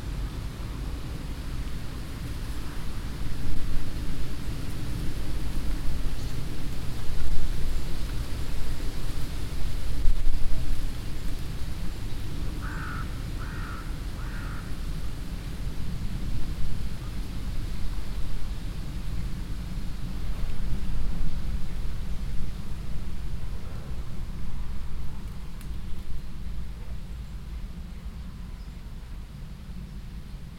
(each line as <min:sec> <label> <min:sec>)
0:00.0 wind in the bushes 0:30.5
0:12.6 crows that fly by 0:14.8